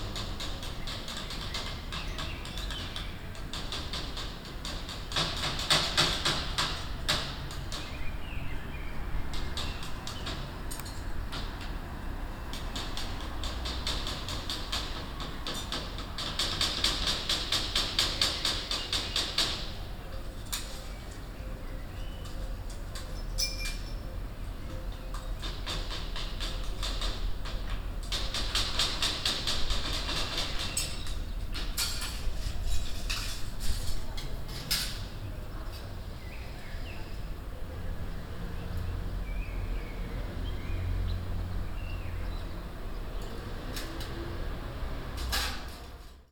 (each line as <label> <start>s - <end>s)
Fixing a balcony baffle 0.0s - 8.5s
Fixing a balcony baffle 9.2s - 21.3s
Fixing a balcony baffle 22.0s - 36.0s